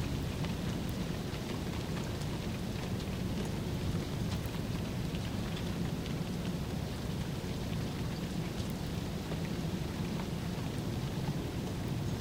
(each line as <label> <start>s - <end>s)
rain dripping 0.0s - 12.2s